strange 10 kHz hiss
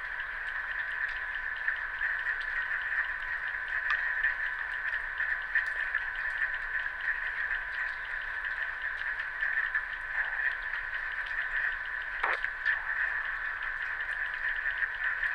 11.5 14.0

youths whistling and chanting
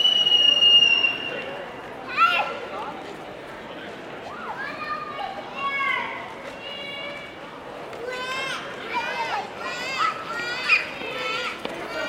0.0 1.6

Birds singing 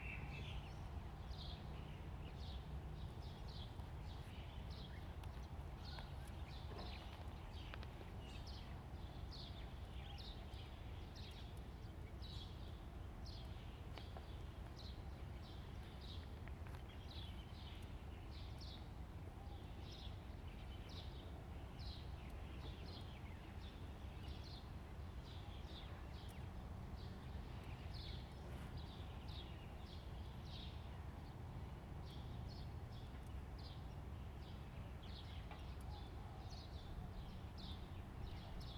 32.1 38.7

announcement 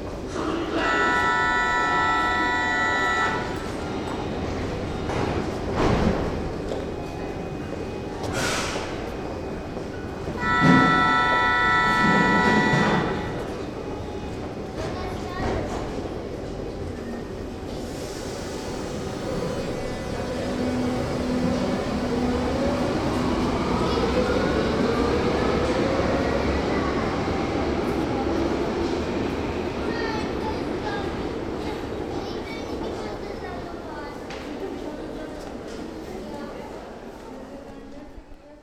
0.7 5.5, 10.3 14.2

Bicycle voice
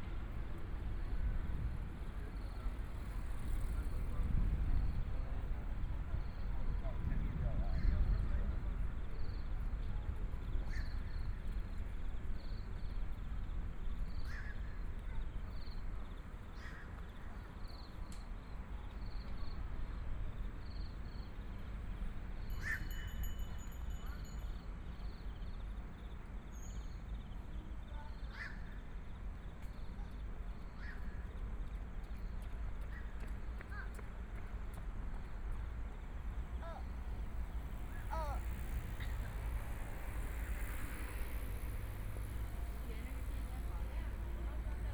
36.5 44.9

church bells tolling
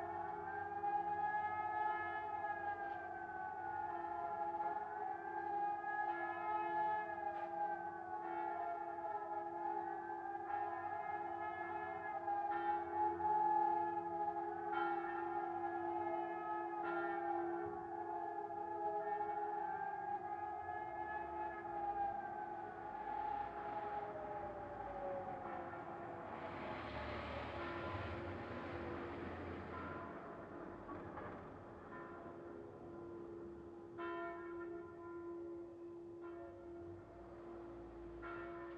14.7 15.5, 29.7 37.2

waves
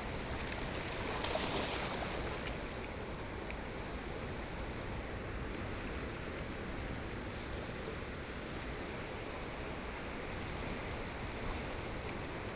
0.0 6.7

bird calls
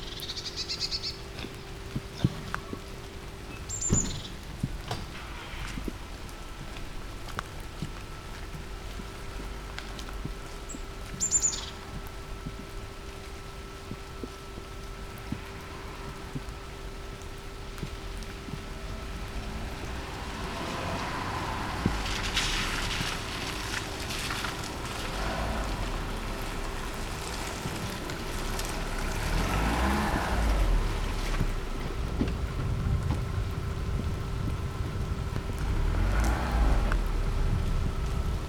0.0 1.3, 3.5 4.4, 10.7 11.8

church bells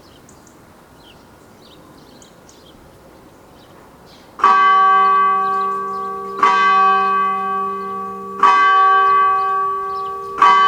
4.4 10.6

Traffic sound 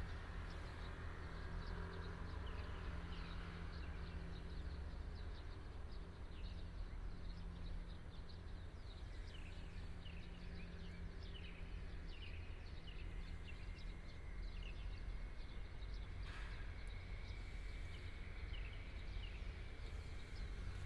11.7 20.8

